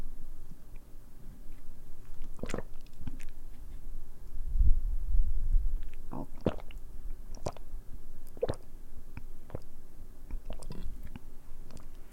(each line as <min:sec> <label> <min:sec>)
0:02.2 slurping and gulping water 0:03.4
0:05.8 slurping and gulping water 0:12.0